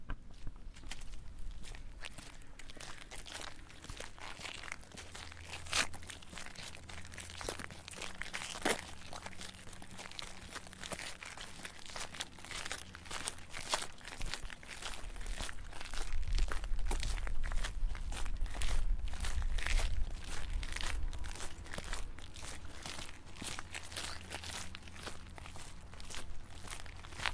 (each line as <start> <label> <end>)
0.0 Two People Walking Along a Gravel Road 27.3